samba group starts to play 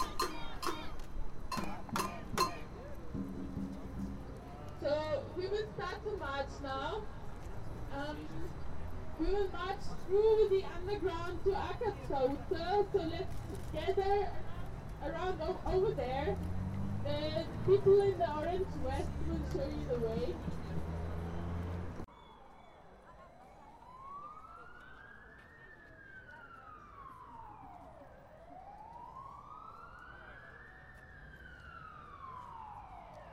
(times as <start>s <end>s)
0.0s 4.7s